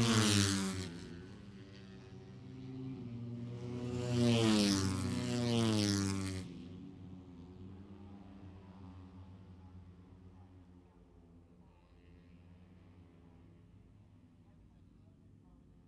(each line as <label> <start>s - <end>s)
motorcycle grand prix 0.0s - 10.4s